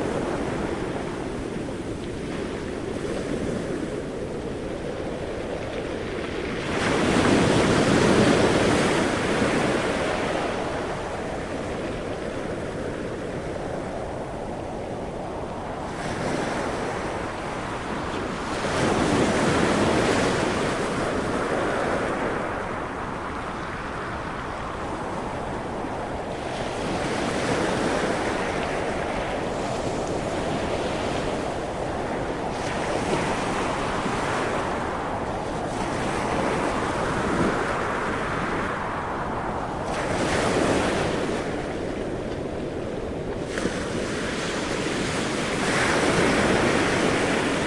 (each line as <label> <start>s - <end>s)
howling wind 0.0s - 47.6s
waves crashing on beach 0.0s - 47.6s